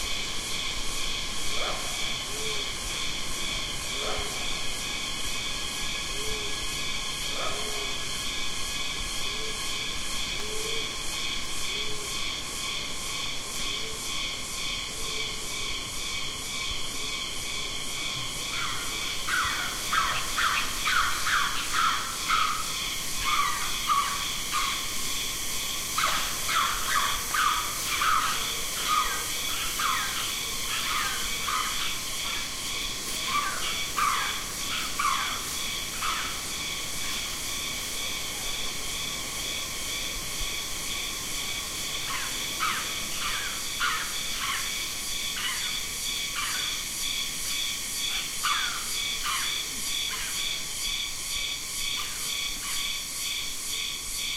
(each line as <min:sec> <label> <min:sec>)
0:00.0 Insect chorus 0:54.3
0:00.0 Macaques foraging on the jungle floor 0:54.3
0:00.0 lone cicada 0:54.3